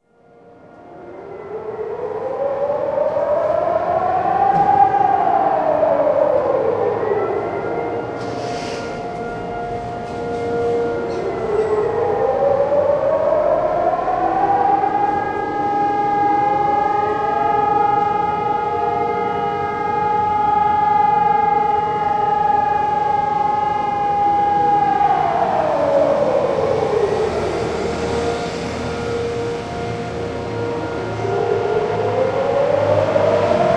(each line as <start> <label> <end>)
0.0 air raid sirens 33.7
0.0 all-clear signal 33.7